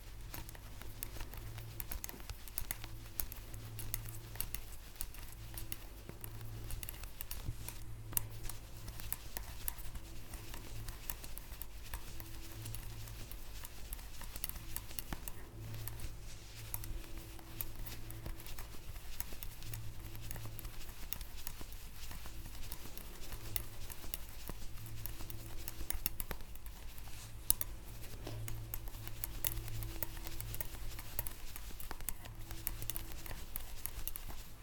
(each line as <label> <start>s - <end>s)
knitting with a traditional Shetland knitting belt 0.0s - 34.6s